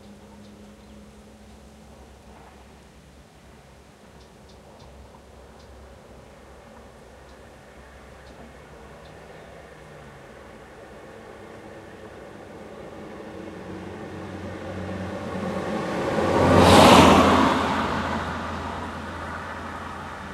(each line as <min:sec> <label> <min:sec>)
0:00.0 wind 0:20.3
0:04.1 birds 0:05.8